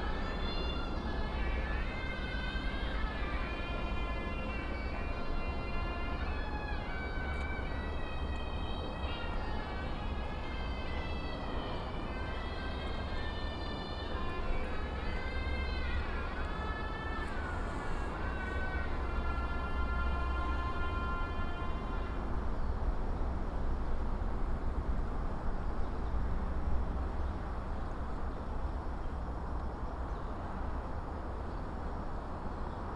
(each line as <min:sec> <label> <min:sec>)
0:00.0 old man practicing playing the suona 0:22.3
0:00.0 traffic sound 0:32.9
0:00.0 high speed railway 0:32.9